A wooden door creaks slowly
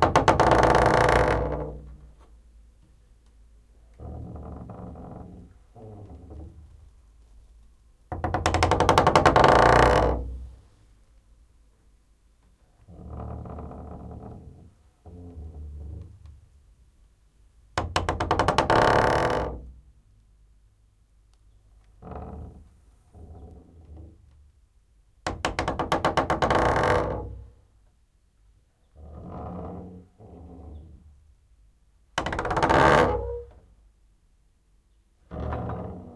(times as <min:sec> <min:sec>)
0:00.0 0:02.3, 0:03.9 0:06.9, 0:08.1 0:10.6, 0:12.8 0:16.4, 0:17.8 0:19.8, 0:21.8 0:24.4, 0:25.2 0:27.7, 0:28.8 0:31.2, 0:32.2 0:33.7, 0:35.2 0:36.1